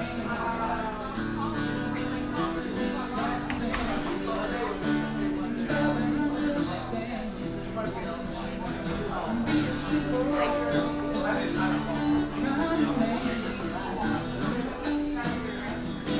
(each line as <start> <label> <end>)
0.0 Hubbub 16.1